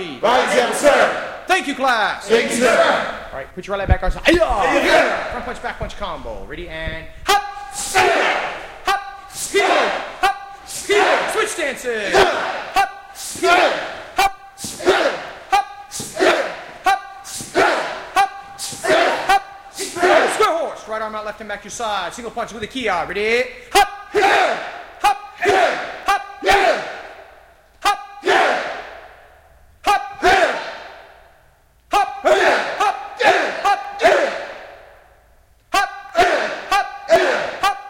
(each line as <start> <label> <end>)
0.0 Students practice hard 37.8
7.2 Instructor who is calling out the moves 26.8